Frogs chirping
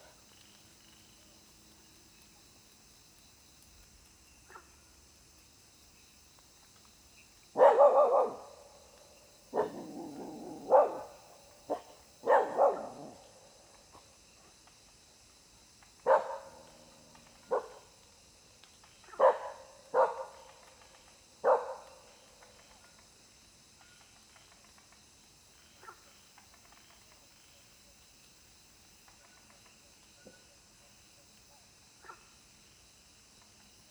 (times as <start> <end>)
7.1 13.3